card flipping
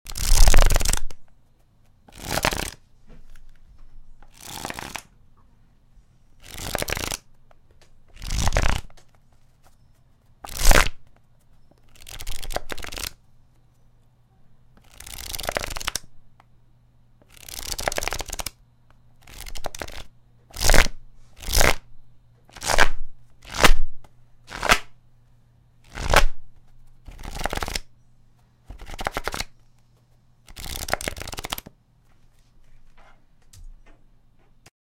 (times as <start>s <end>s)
0.1s 1.2s, 1.8s 3.6s, 4.2s 5.1s, 6.4s 7.3s, 8.1s 13.2s, 14.8s 16.0s, 25.9s 27.9s, 28.7s 29.5s, 30.5s 31.7s